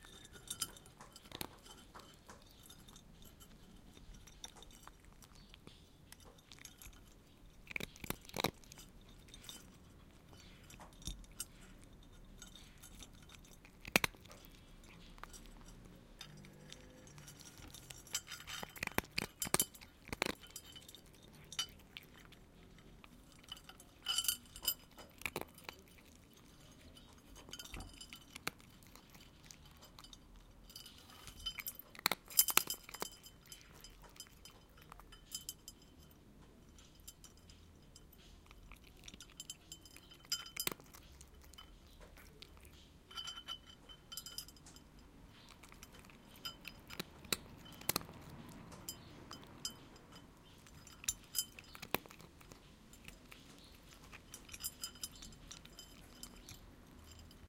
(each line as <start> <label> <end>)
0.0 Cat eating cat food 57.4
0.0 collar against the bowl 57.4